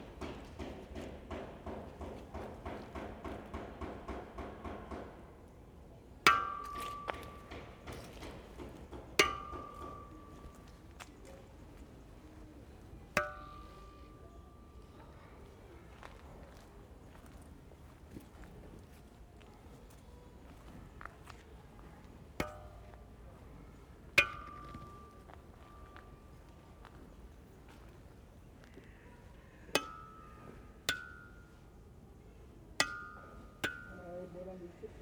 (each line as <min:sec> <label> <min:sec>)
0:00.0 sounds of work inside 0:33.9
0:06.3 bike stands are all metal that ring beautifully when hit by hand 0:16.6
0:22.0 bike stands are all metal that ring beautifully when hit by hand 0:28.9
0:29.6 bike stands are all metal that ring beautifully when hit by hand 0:35.0
0:29.6 resonant railings 0:35.0